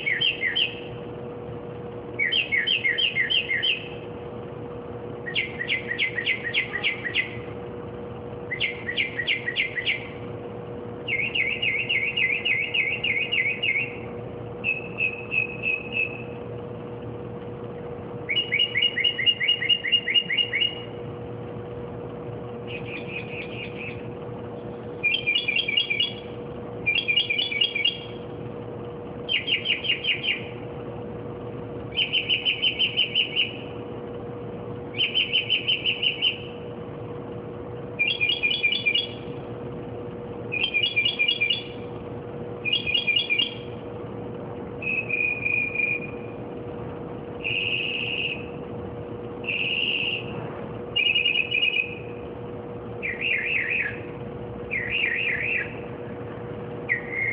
bird singing and chirping various car-alarm-like-songs 0.0 - 1.1
occasional street noises 0.0 - 57.3
bird singing and chirping various car-alarm-like-songs 2.1 - 4.1
bird singing and chirping various car-alarm-like-songs 5.2 - 7.6
bird singing and chirping various car-alarm-like-songs 8.4 - 10.3
bird singing and chirping various car-alarm-like-songs 11.0 - 16.5
bird singing and chirping various car-alarm-like-songs 17.8 - 21.1
bird singing and chirping various car-alarm-like-songs 22.6 - 24.2
bird singing and chirping various car-alarm-like-songs 24.8 - 28.3
bird singing and chirping various car-alarm-like-songs 29.2 - 30.7
bird singing and chirping various car-alarm-like-songs 31.9 - 33.8
bird singing and chirping various car-alarm-like-songs 34.8 - 36.6
bird singing and chirping various car-alarm-like-songs 37.9 - 39.5
bird singing and chirping various car-alarm-like-songs 40.4 - 43.9
bird singing and chirping various car-alarm-like-songs 44.8 - 46.4
bird singing and chirping various car-alarm-like-songs 47.4 - 48.6
bird singing and chirping various car-alarm-like-songs 49.4 - 52.2
bird singing and chirping various car-alarm-like-songs 53.0 - 56.1
bird singing and chirping various car-alarm-like-songs 56.8 - 57.3

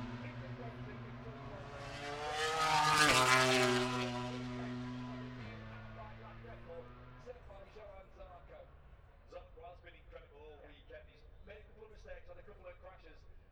motorcycle grand prix 0.0 - 12.6

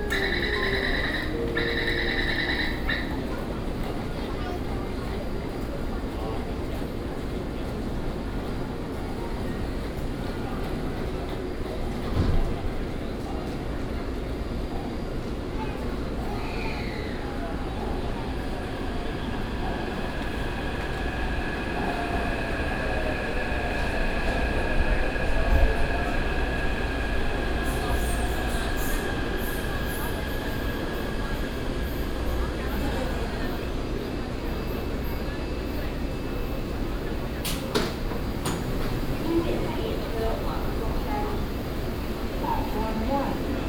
walk into the MRT station 0.0 - 43.6

